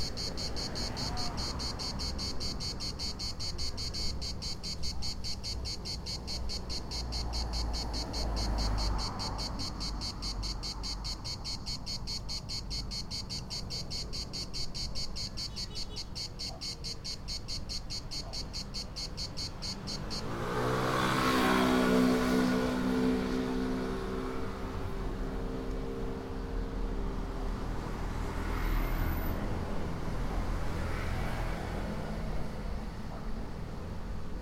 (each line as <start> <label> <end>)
0.0 drone of what I think must be cicadas 24.8
0.0 single cicada song 32.8